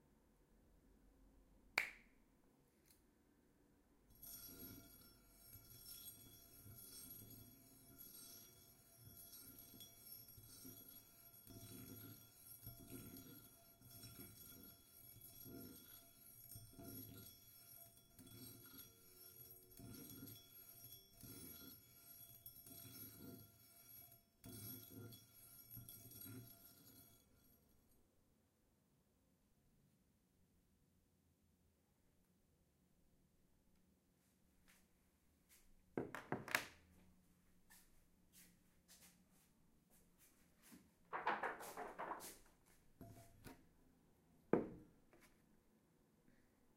4.1s steel brush rubbing over an antique iron 27.6s

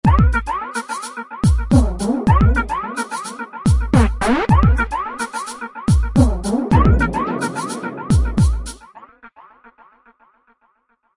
1.5s drum 2.8s
3.7s drum 8.9s

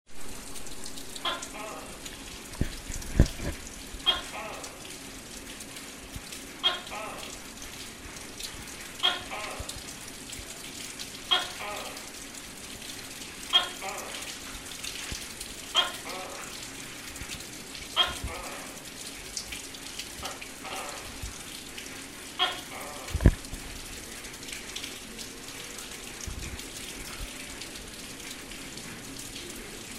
0.1s rain 29.9s
1.2s frog 1.9s
4.1s frog 4.6s
6.6s frog 7.2s
9.0s frog 9.6s
11.3s frog 12.0s
13.5s frog 14.3s
15.8s frog 16.4s
18.0s frog 18.6s
22.4s frog 23.2s

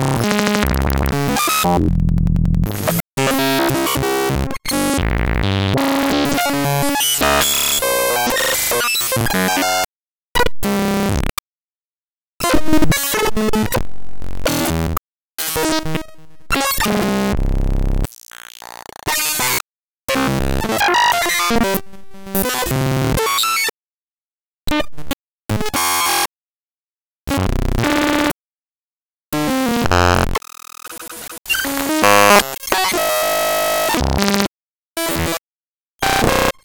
0.3s fractal 303 freakout 3.0s

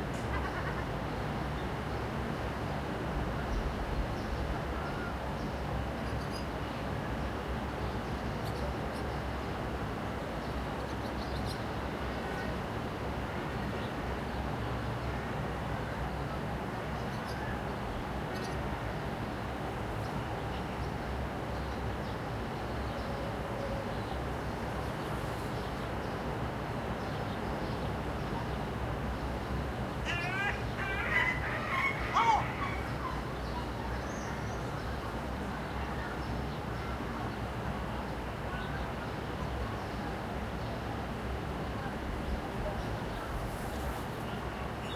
30.0s shouting 33.2s
30.0s talking 33.2s

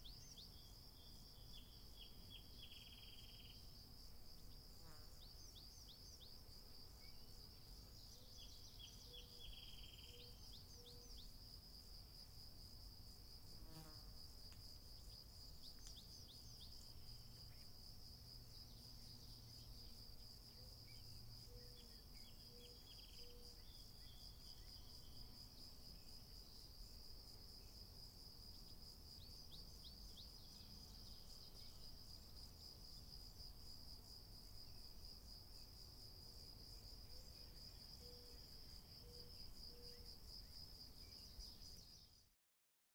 0.0s Frogs 3.7s
4.8s Frogs 11.6s
18.4s Frogs 27.8s
36.6s Frogs 42.2s

